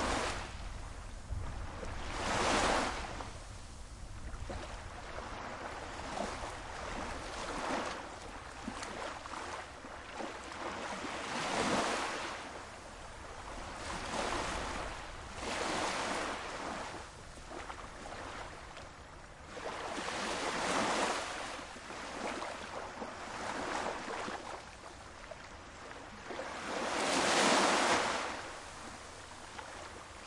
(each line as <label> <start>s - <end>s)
waves 0.0s - 30.2s